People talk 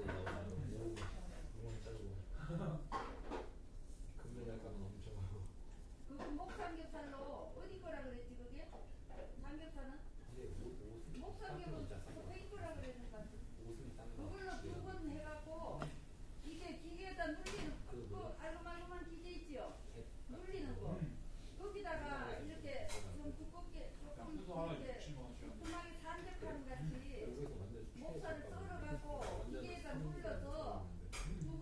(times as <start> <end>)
0.0 1.3